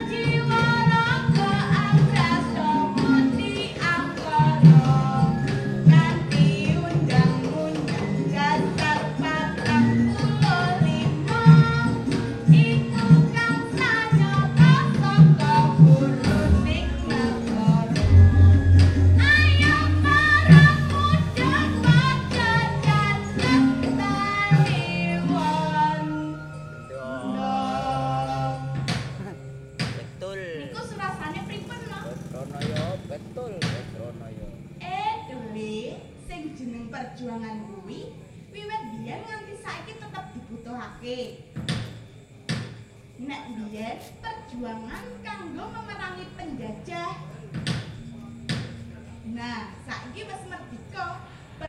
female dalang (puppeteer/director) performing 0.0 - 32.2

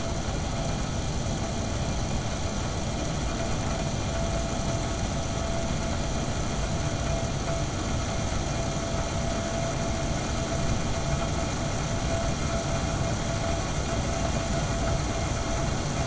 gas oven 0.0 - 16.0
steam 0.0 - 16.0

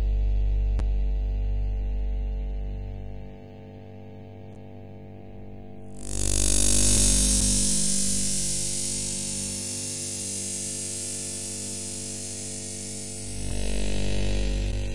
Electric Waves Noise 7.0 - 14.6

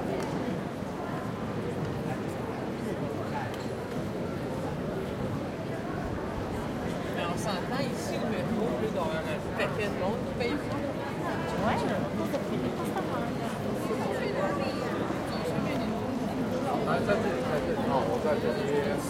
people are walking around the recorder 0.0 - 19.0

